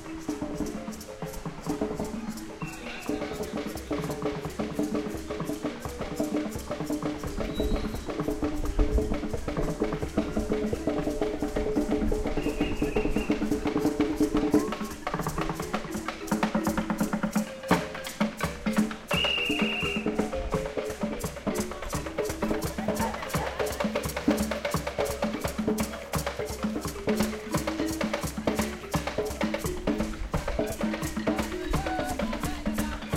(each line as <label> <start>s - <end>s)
Street musicians 0.0s - 33.1s